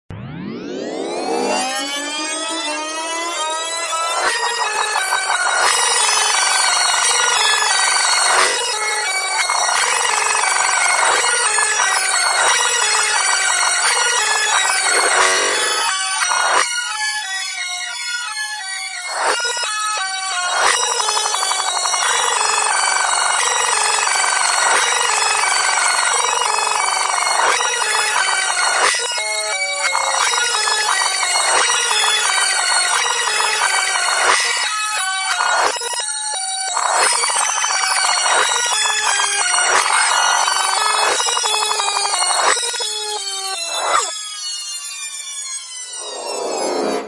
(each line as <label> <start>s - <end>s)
Long Rewind / Fast Forward 0.1s - 4.5s
Long Rewind / Fast Forward 45.9s - 47.0s